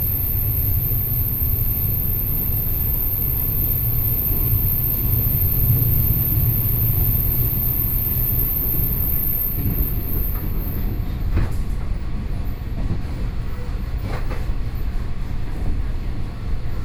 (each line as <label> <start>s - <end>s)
On the train 0.0s - 16.8s